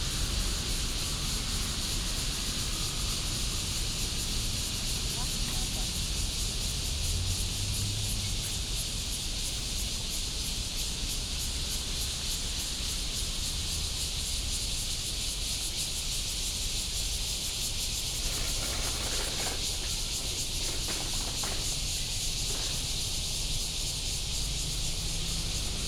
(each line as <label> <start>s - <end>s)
Cicada cry 0.0s - 25.8s
traffic sound 0.1s - 11.8s
traffic sound 18.0s - 25.8s